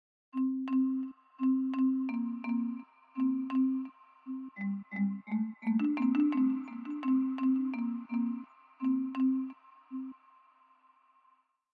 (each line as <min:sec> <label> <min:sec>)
0:00.4 marimba with multiple effects applied 0:10.2